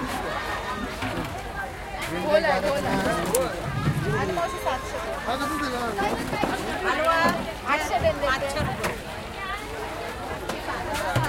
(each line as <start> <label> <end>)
0.0 ice coolers 11.2
0.0 voices 11.2